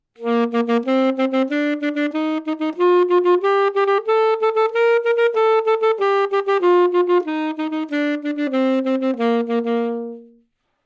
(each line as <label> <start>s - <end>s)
Sax Alto 0.2s - 10.6s